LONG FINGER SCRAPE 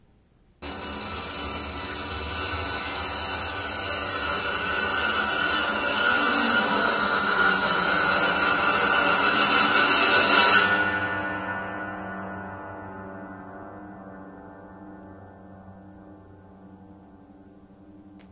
0:00.6 0:10.2

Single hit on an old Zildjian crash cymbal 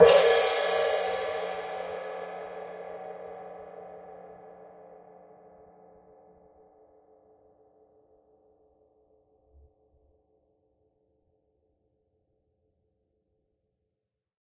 0:00.0 0:03.3

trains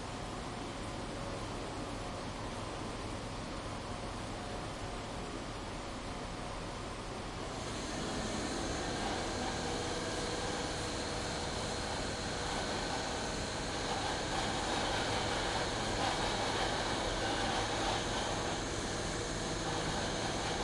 0:07.4 0:20.6

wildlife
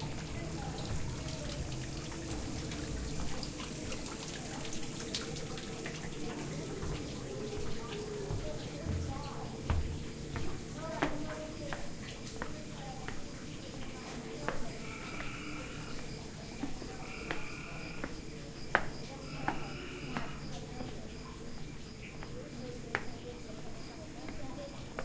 0:12.8 0:25.0

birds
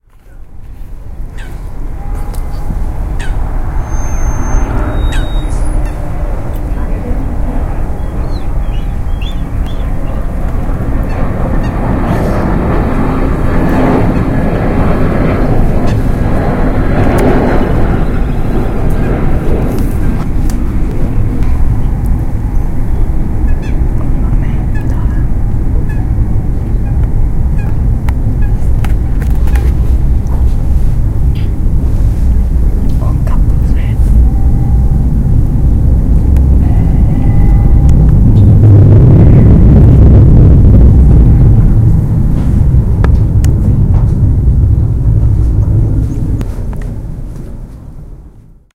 0:01.3 0:06.2, 0:07.9 0:10.4

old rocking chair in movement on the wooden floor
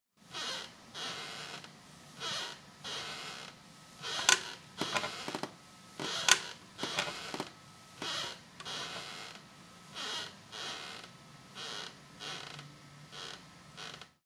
0:02.9 0:09.4

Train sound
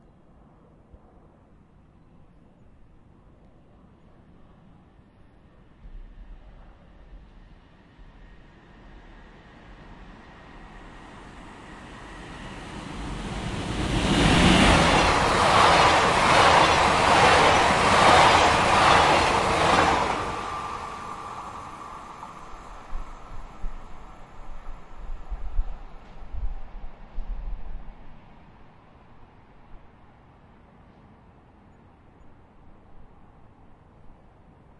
0:06.3 0:31.4

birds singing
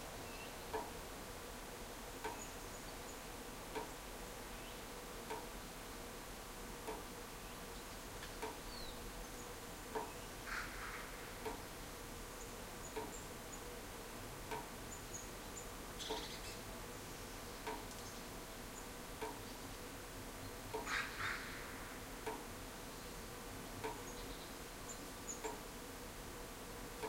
0:08.6 0:11.3, 0:14.9 0:19.7

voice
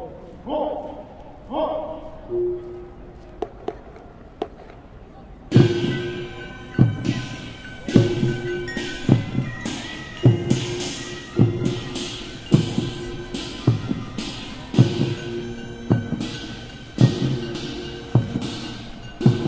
0:00.0 0:03.5

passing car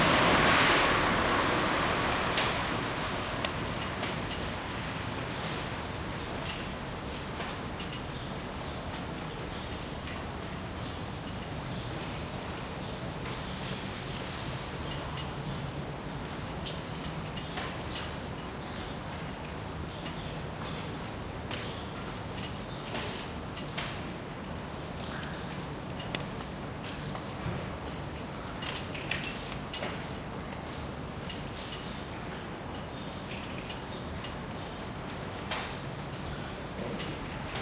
0:00.0 0:05.1

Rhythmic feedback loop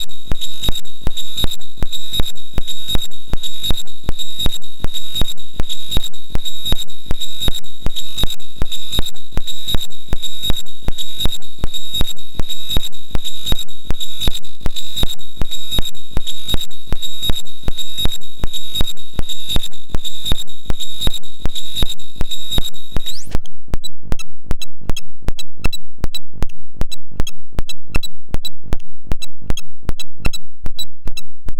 0:00.0 0:23.4

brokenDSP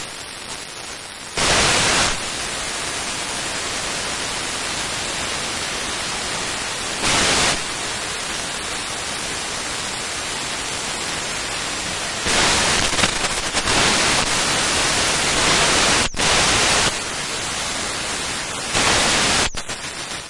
0:12.2 0:17.0, 0:18.7 0:20.2

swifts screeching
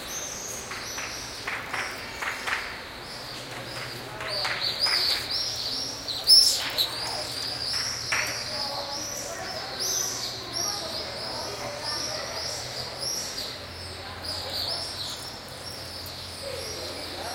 0:05.4 0:08.6

